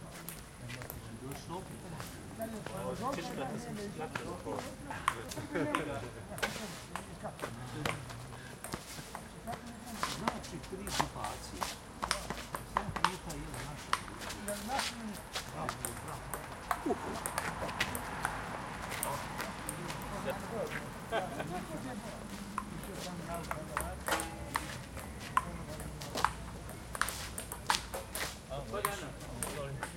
4.2s playing ping-pong 11.0s
11.6s playing ping-pong 14.9s
15.6s playing ping-pong 20.8s
22.3s playing ping-pong 29.9s

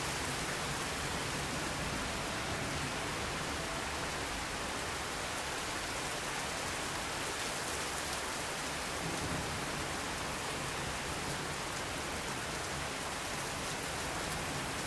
0.0s Rain 14.8s

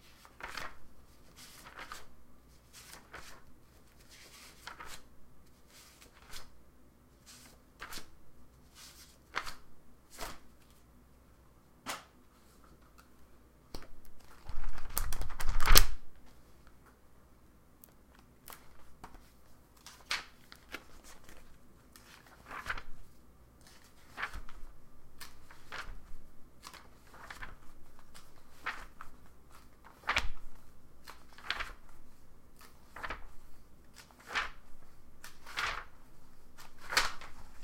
0.0s book 6.6s
0.0s turning individual pages 6.6s
7.2s book 10.9s
7.2s turning individual pages 10.9s
11.8s turning individual pages 16.7s
17.8s turning individual pages 37.6s
18.1s book 37.6s

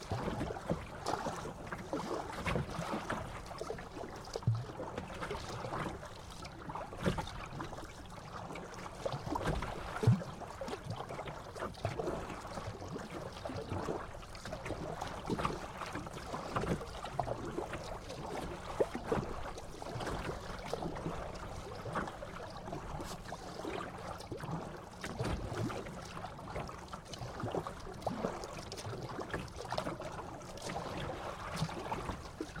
0.0s oar working the water 32.6s

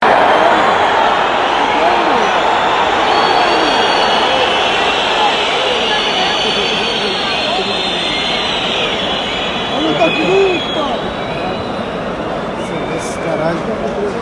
0.0s discontent people watching a football match 14.2s

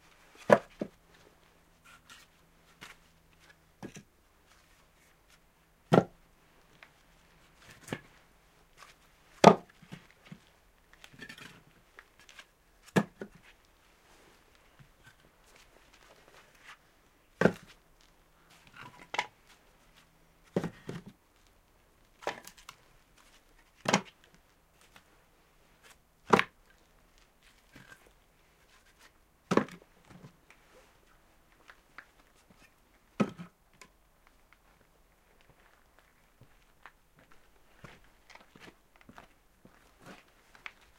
0.4s dry Spruce logs being stacked 1.2s
4.7s dry Spruce logs being stacked 6.9s
7.6s dry Spruce logs being stacked 8.2s
8.8s dry Spruce logs being stacked 13.6s
17.4s dry Spruce logs being stacked 21.2s
22.2s dry Spruce logs being stacked 25.0s
25.8s dry Spruce logs being stacked 26.6s
28.8s dry Spruce logs being stacked 30.6s
31.5s dry Spruce logs being stacked 34.0s

